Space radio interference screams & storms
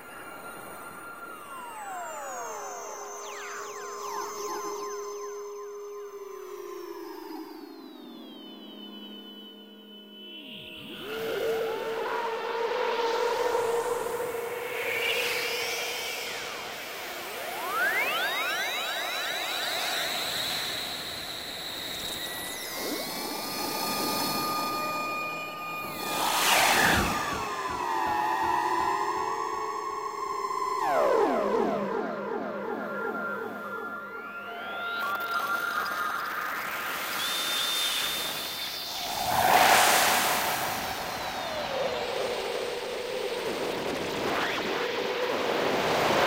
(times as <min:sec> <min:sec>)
0:20.5 0:29.4, 0:35.0 0:46.2